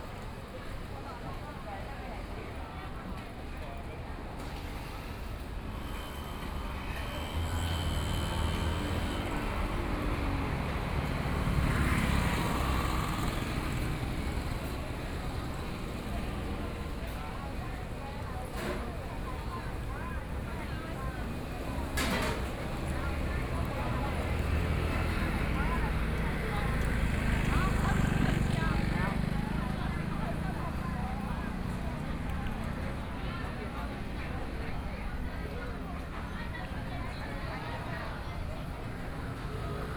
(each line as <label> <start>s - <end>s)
Various shops voices 0.0s - 39.9s
walking on the Road 0.0s - 39.9s
Traffic Sound 4.3s - 39.9s